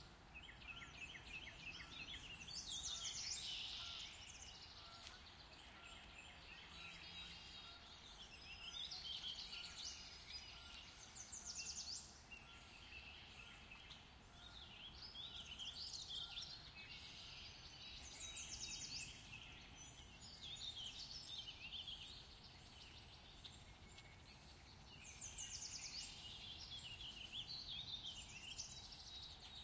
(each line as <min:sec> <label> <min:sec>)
0:00.0 sparrow 0:29.6